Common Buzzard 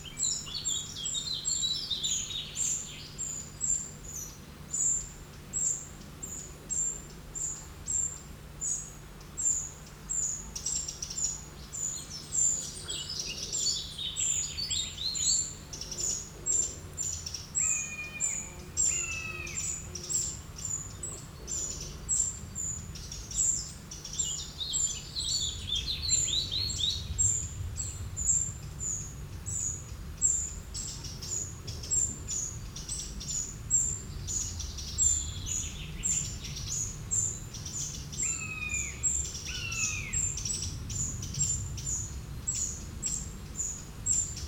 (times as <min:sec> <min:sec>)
0:09.4 0:26.3